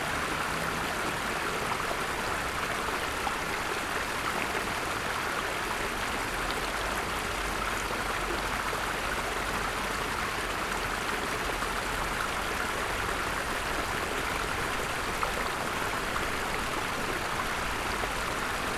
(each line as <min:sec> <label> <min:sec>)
0:00.0 little artificial creek 0:18.7